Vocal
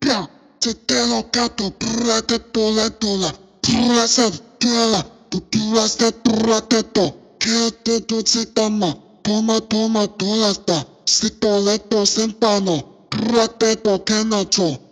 0.0s 7.1s, 12.6s 14.8s

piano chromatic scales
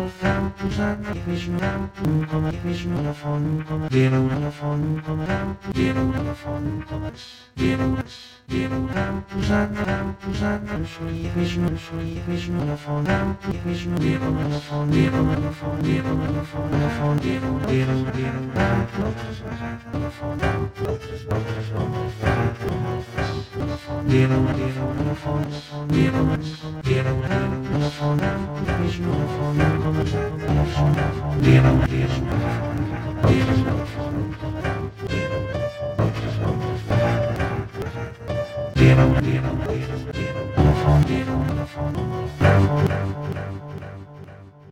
21.8s 44.7s

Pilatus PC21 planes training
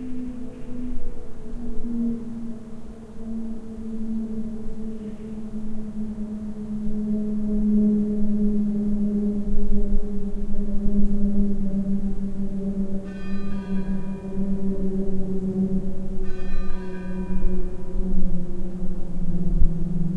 0.0s 13.1s

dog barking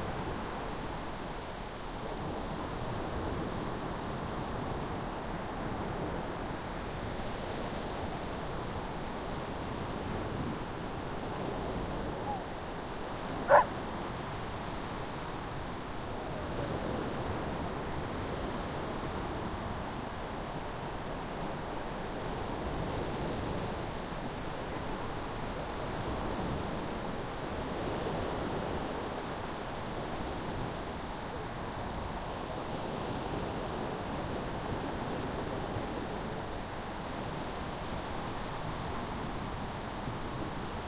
12.1s 12.5s, 13.4s 13.8s

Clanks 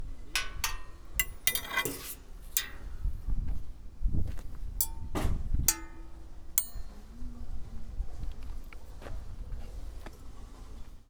0.4s 3.0s, 4.8s 7.0s

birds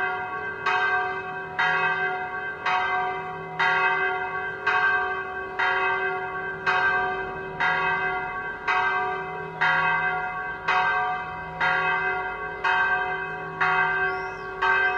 11.9s 14.9s

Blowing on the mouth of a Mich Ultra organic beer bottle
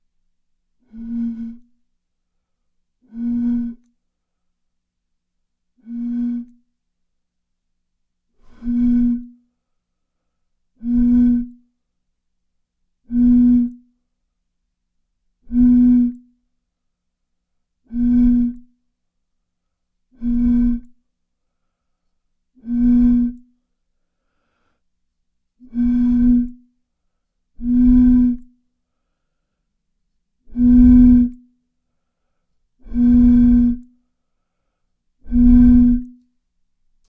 0.8s 1.7s, 3.0s 3.8s, 5.8s 6.7s, 8.4s 9.4s, 10.8s 11.7s, 13.0s 13.9s, 15.4s 16.3s, 17.9s 18.7s, 20.1s 21.0s, 22.6s 23.5s, 25.6s 26.7s, 27.6s 28.6s, 30.4s 31.5s, 32.8s 34.0s, 35.2s 36.2s

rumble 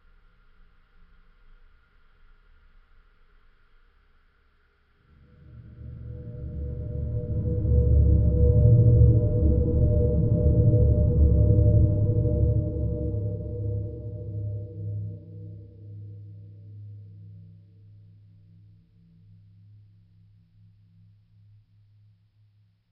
5.0s 21.2s

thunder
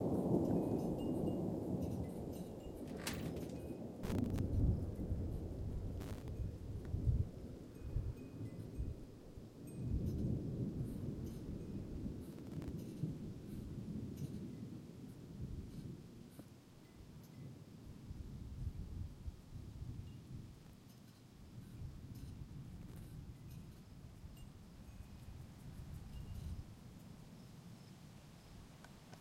0.0s 9.1s, 9.8s 16.4s

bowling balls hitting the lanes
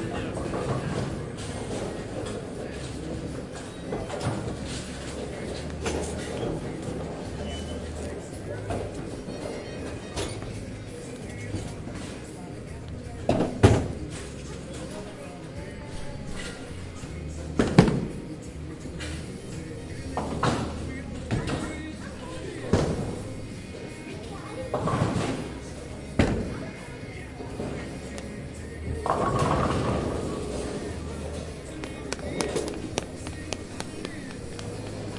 29.0s 35.1s

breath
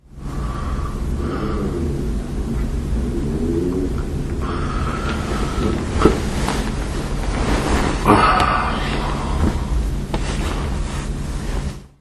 0.2s 1.8s, 4.4s 6.2s

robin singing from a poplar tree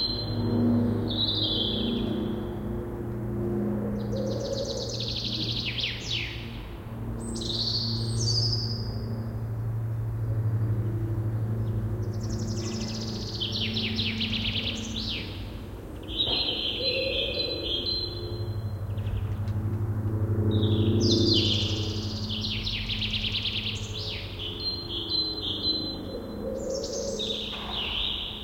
16.0s 19.1s, 20.6s 28.4s

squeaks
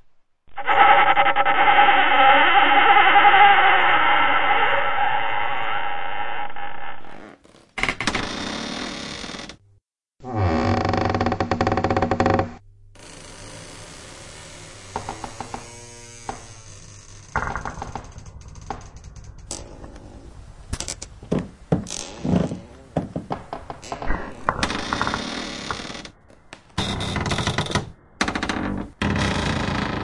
0.5s 7.4s

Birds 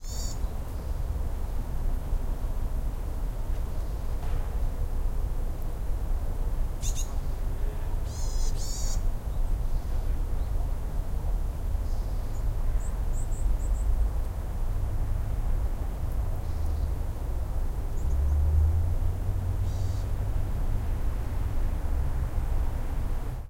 0.0s 1.0s, 6.8s 10.6s, 19.6s 20.2s

